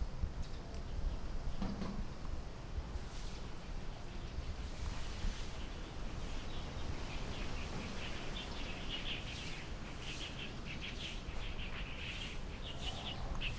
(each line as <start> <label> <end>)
0.0 Wind 13.5
6.5 Birds singing 13.5